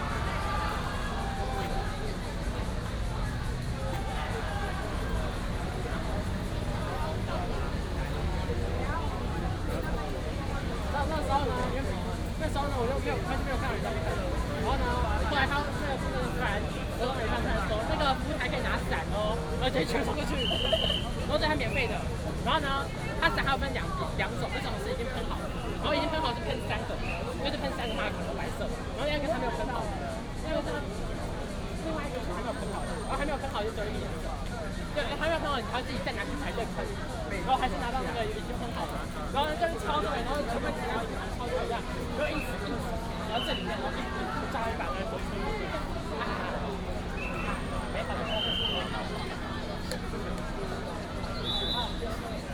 0.0s Protest march 24.3s

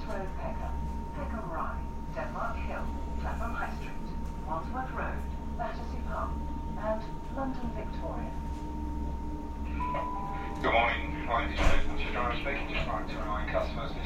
0.0s announcement of need to change trains 8.6s
0.0s Train through South Bermondsey Station 8.6s
9.5s announcement of need to change trains 14.0s
9.6s Train through South Bermondsey Station 14.0s

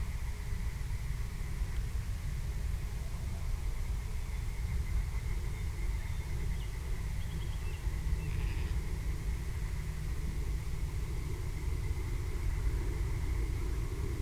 3.0s frogs and/or toads 14.2s

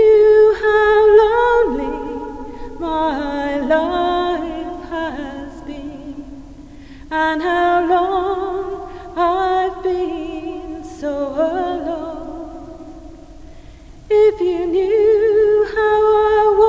0.0s visitor singing 13.1s

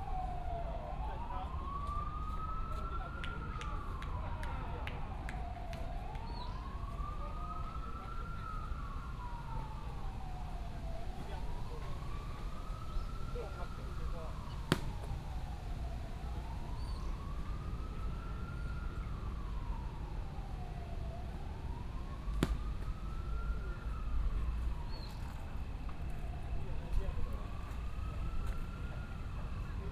0.0s traffic sound 29.9s
0.2s pupils are practicing against baseball 29.9s
6.2s birds sound 6.8s
12.8s birds sound 13.3s
16.7s birds sound 17.3s

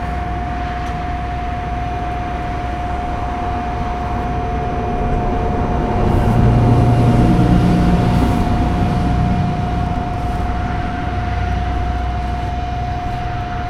0.0s hum and whine of commercial AC units 13.6s
0.0s traffic 13.6s

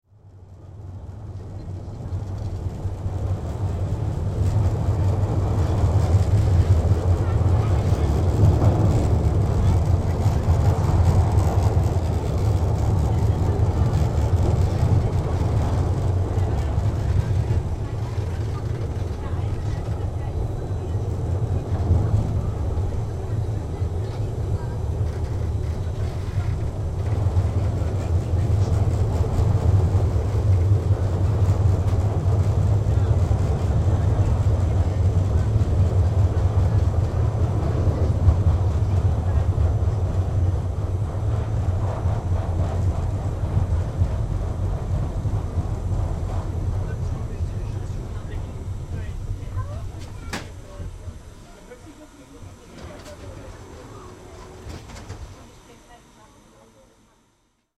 0.4s Schwebebahn 55.1s

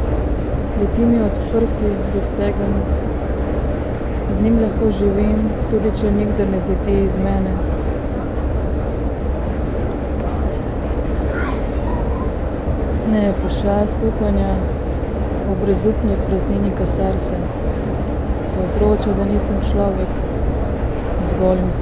0.0s S-bahn 21.8s

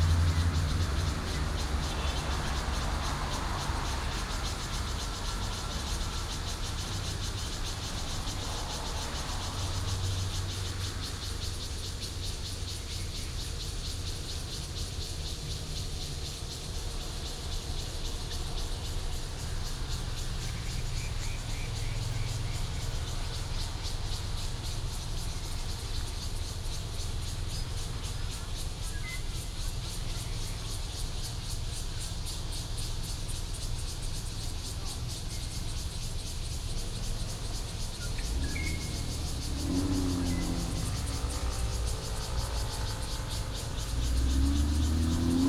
0.0s Birds 33.6s
0.0s Cicada 45.4s
0.0s Traffic sound 45.4s
34.6s Birds 45.4s

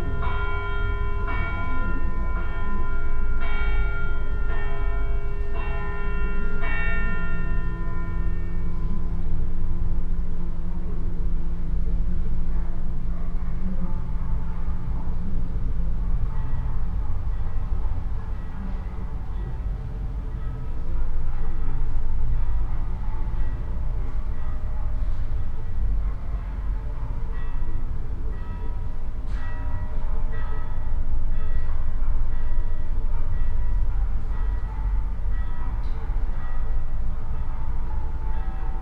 0.0s church bells 38.8s

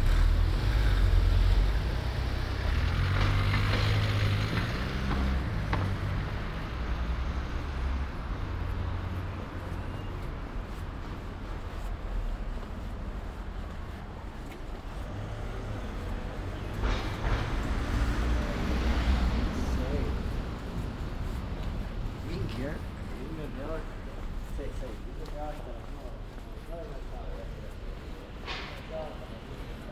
16.1s start of the train 23.9s
28.1s start of the train 29.9s

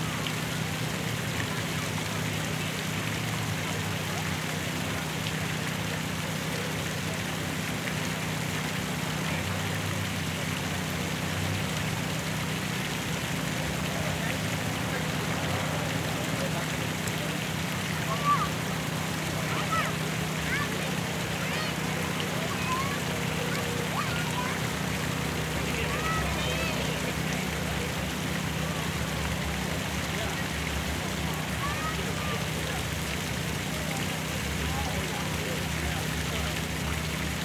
0.0s water 37.4s
16.2s kids running around 27.8s
31.4s kids running around 32.6s

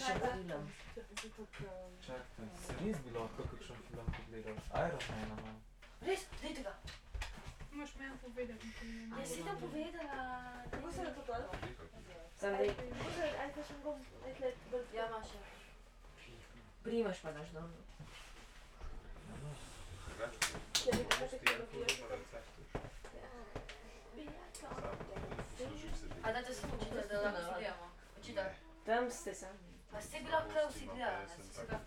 0.0s group of youngsters 17.2s
18.2s group of youngsters 31.8s

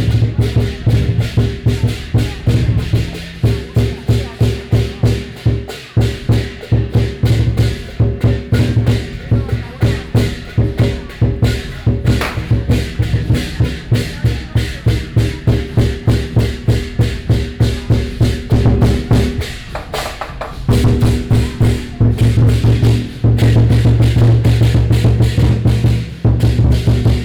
0.0s Percussion 27.2s

